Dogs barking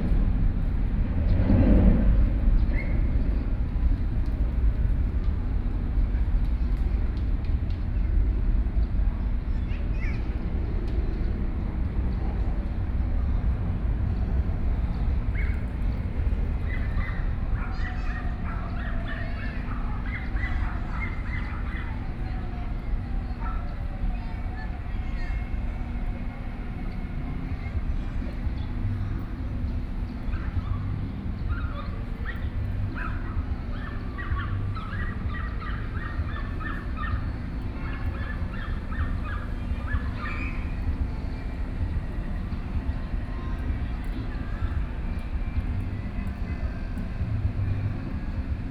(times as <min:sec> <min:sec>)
0:16.5 0:24.5, 0:30.2 0:41.0